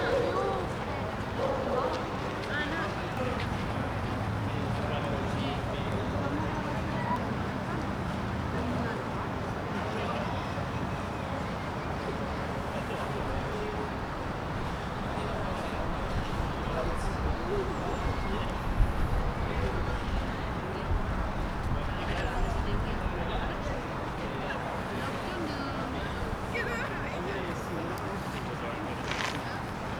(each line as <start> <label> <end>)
0.0 Humans 9.0